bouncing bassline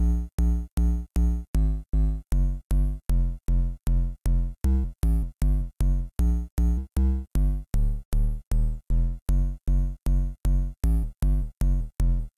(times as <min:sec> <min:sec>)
0:08.4 0:12.3